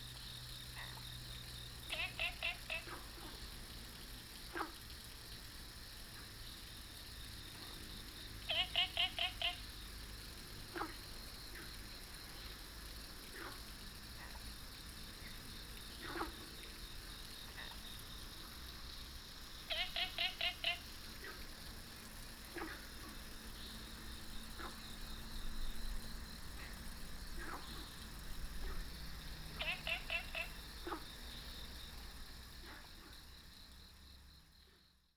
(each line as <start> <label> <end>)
0.1 Frogs chirping 35.1